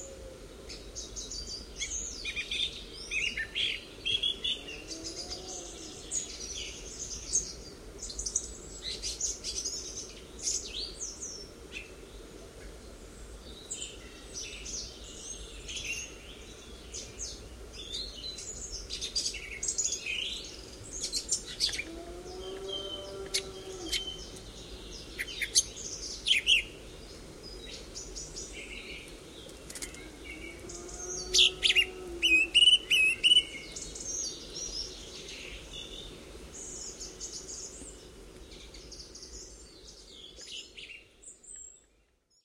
0.0s songs of songthrushes 42.4s
13.6s blackbird 42.0s
21.8s moowing cows 24.4s
30.0s moowing cows 32.6s

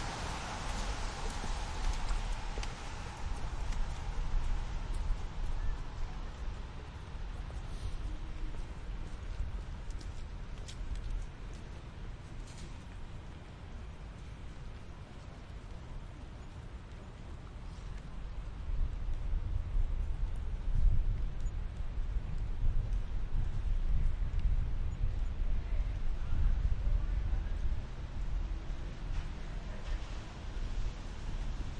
0.0s wet cars pass 8.9s
27.9s wet cars pass 31.7s

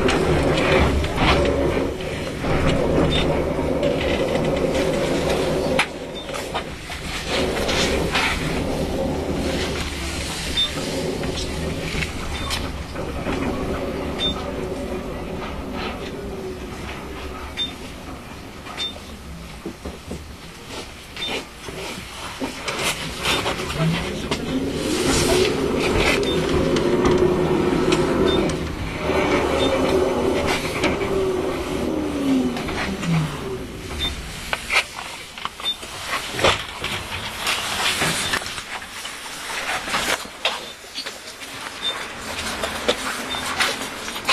3.0s beeping of broken validating machine 3.4s
6.0s beeping of broken validating machine 6.5s
10.5s beeping of broken validating machine 14.6s
17.5s beeping of broken validating machine 17.9s
18.8s beeping of broken validating machine 19.1s
21.2s beeping of broken validating machine 21.4s
25.4s beeping of broken validating machine 27.2s
28.2s beeping of broken validating machine 28.6s
29.4s beeping of broken validating machine 30.0s
33.9s beeping of broken validating machine 34.3s
38.2s beeping of broken validating machine 38.4s
41.8s beeping of broken validating machine 42.1s
43.2s beeping of broken validating machine 43.6s

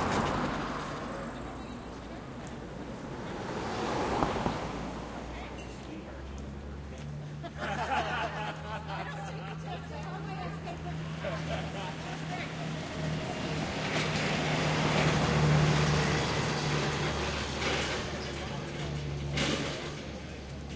0.0s Car engine passes with nice low end sound 18.7s
0.0s Big truck with rough engine passes 20.7s
0.0s passing traffic 20.7s
1.4s conversation 14.3s
7.2s occasional laughing 13.6s

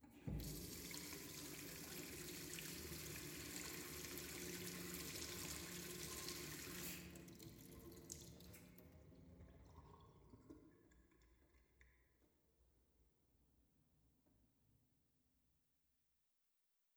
0.2s sink turning on, running, turning off and draining 9.7s

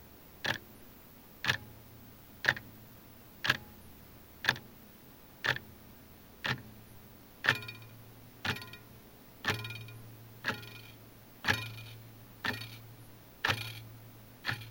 0.4s more pronounced mechanical ticks 0.8s
1.4s more pronounced mechanical ticks 2.8s
3.4s more pronounced mechanical ticks 4.8s
5.4s more pronounced mechanical ticks 14.7s
7.4s occasional second hand vibration 14.7s

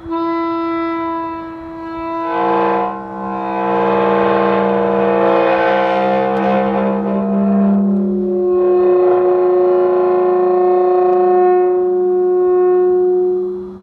1.1s Heavy wrought-iron cemetery gate opening 11.9s

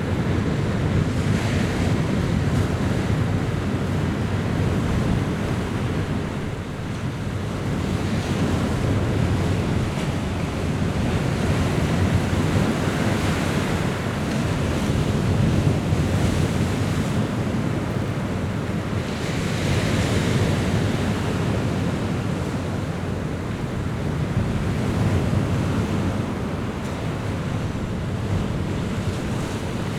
0.0s Stormy sea 29.9s

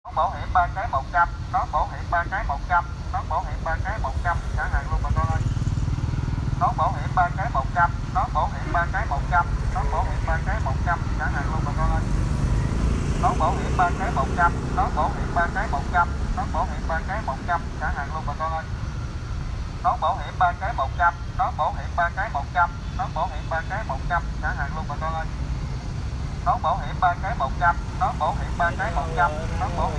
26.5s Man sell helmet say 29.9s

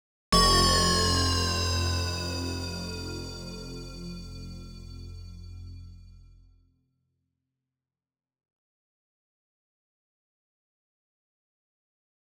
0.4s stinger 6.2s

